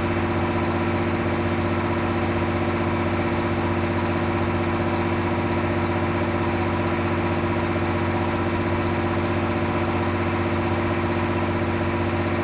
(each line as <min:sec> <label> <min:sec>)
0:00.0 diesel barge onboard loud engine 0:12.4